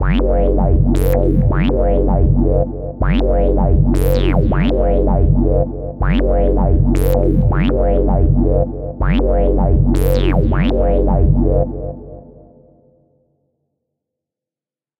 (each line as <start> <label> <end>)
0.0 acidic drum & bass bassline variations 12.3
0.1 beats 11.8